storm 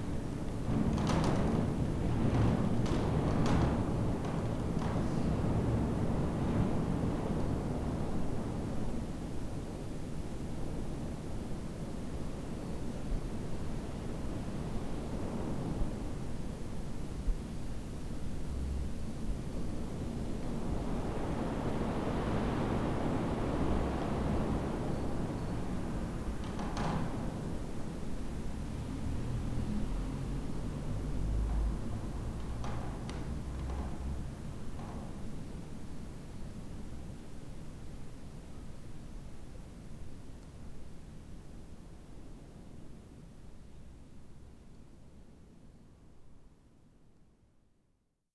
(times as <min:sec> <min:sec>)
0:00.0 0:38.2